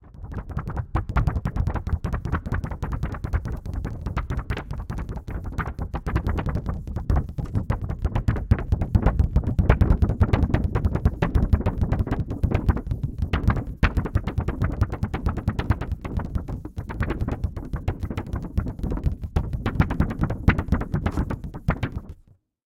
Tapping of hand on plastic sheet film 0.2 - 22.4

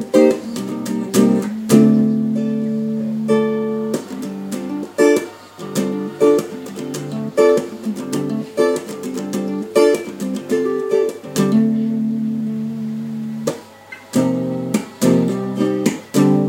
Uneek guitar experiments 0.0 - 16.4

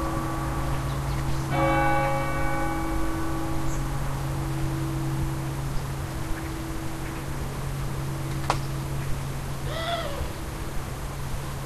Birds in the distance 0.0 - 2.6
church bell 0.0 - 9.6
street noise very far away 0.0 - 11.6

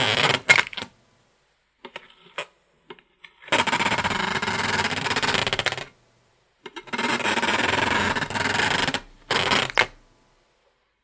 squeaking and creaking 6.8 - 10.0

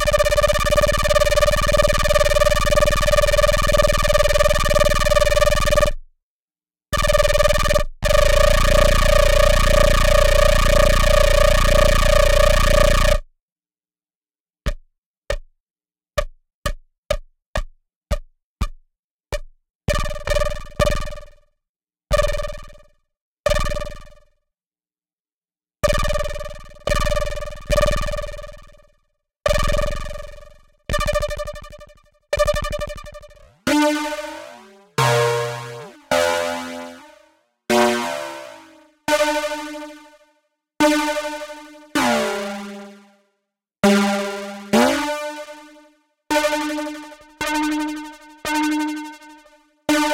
Synthesizer 32.6 - 40.2
Synthesizer 40.8 - 43.2
Synthesizer 43.8 - 50.1

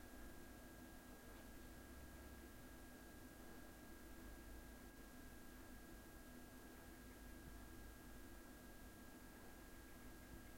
background hum of a refrigerator 0.0 - 10.5

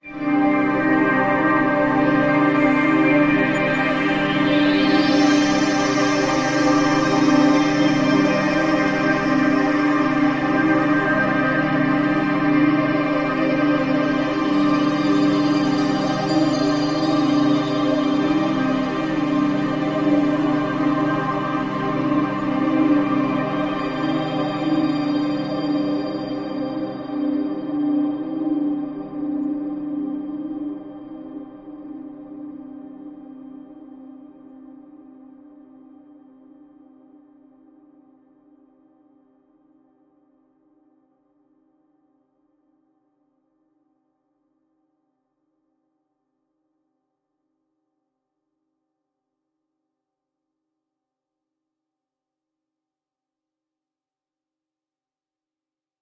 choir 0.1 - 36.7

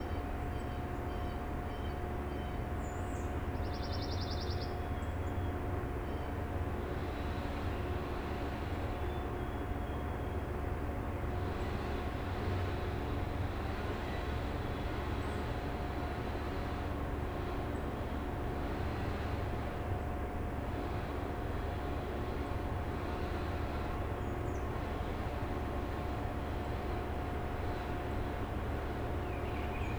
chainsaw 18.6 - 19.8

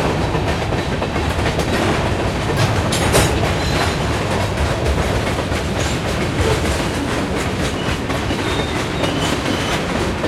train behind my house 0.0 - 10.2

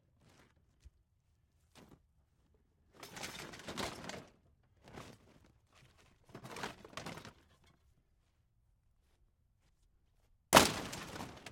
Hitting a broken metal dishwasher with a sledge-axe 10.6 - 11.5

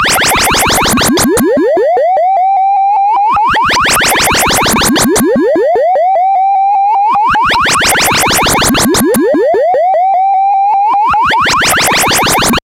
drone 0.0 - 1.9
drone 3.8 - 5.7
drone 7.5 - 9.6

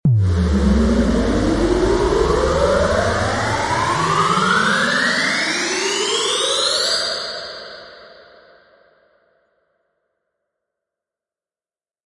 high pitched bass sound 0.0 - 6.4

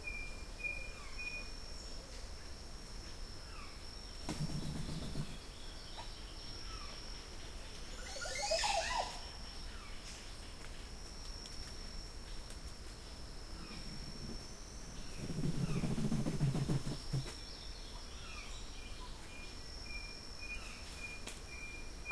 large bird in a tree making such a funny and strange call 8.0 - 9.3

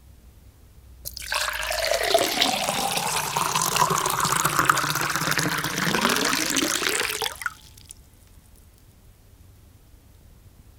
Water poured into a glass 1.1 - 7.9
bubbles 1.1 - 7.9
trickle 1.1 - 8.0

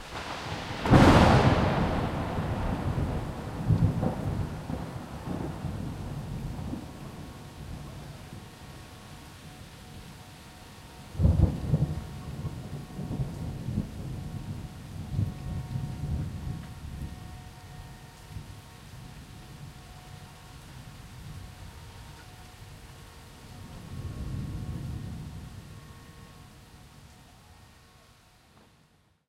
lightning cracks 0.0 - 7.4
Thunder Rumble throughout 0.0 - 29.2
Rain on street, plants, exterior home 0.0 - 29.2

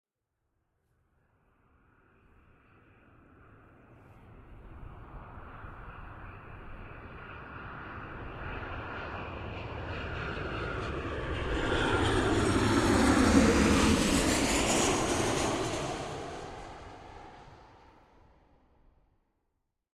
Civil airliner landing 2.6 - 18.3

